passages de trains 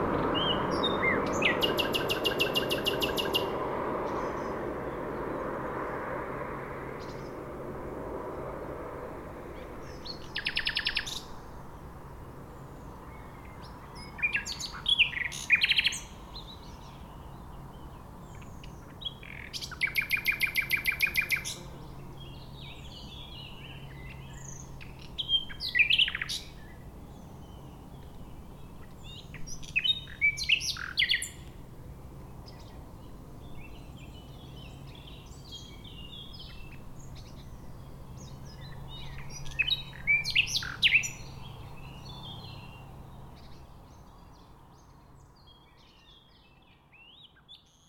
0.0s 12.4s

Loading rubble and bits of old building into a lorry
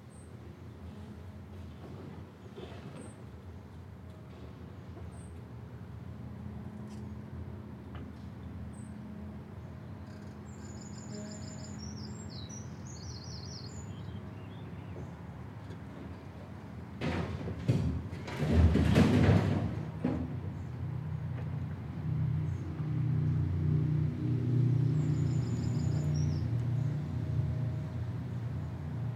0.7s 5.6s, 14.7s 22.4s

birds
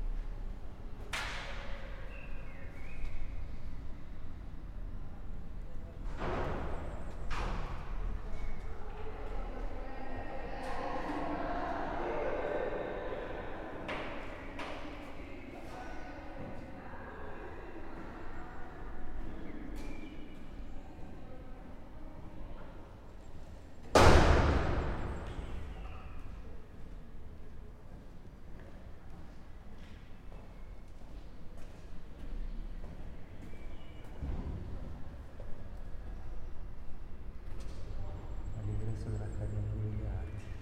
1.8s 3.8s

